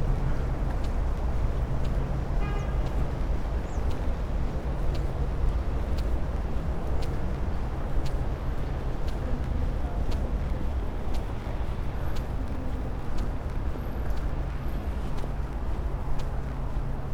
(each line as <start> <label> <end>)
0.0 people walk by 17.1
0.0 walking along popular promenade 17.1